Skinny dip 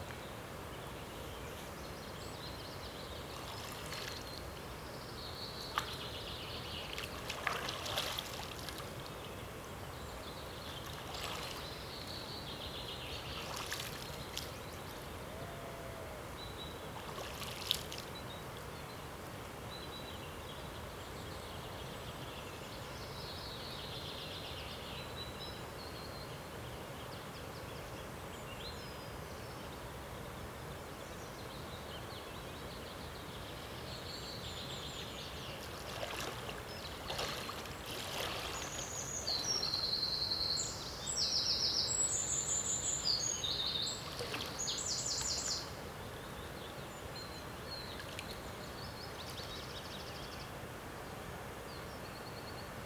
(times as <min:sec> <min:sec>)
0:06.8 0:09.1, 0:13.3 0:15.0, 0:35.5 0:39.8, 0:43.6 0:45.5